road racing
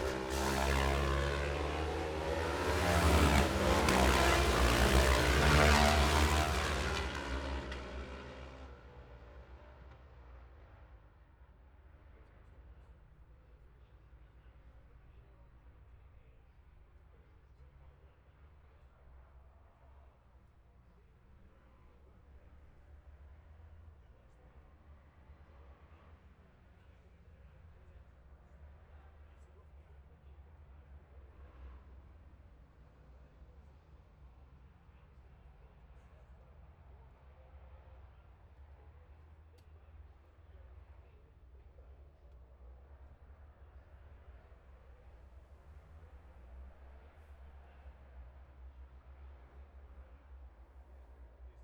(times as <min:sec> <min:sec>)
0:00.0 0:11.0, 0:37.0 0:51.6